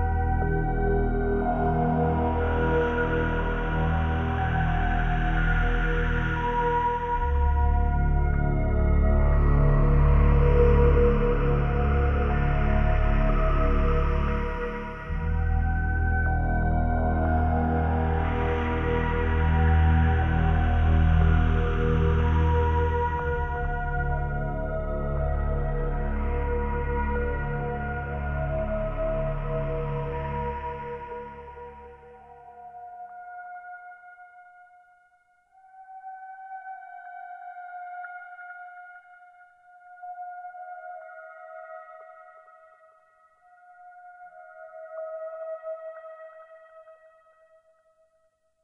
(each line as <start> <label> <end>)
0.0 syntheziser 34.3